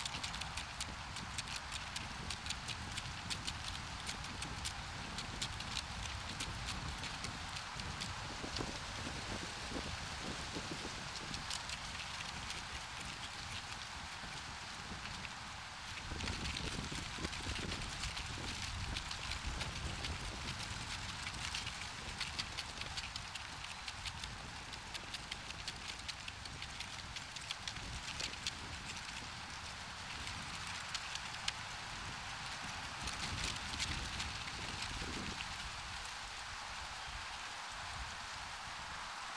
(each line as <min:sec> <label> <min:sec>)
0:00.0 Leaf in the Wind 0:39.3